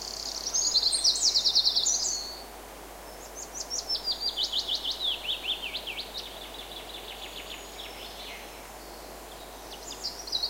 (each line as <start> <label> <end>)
3.1 birdsong 10.4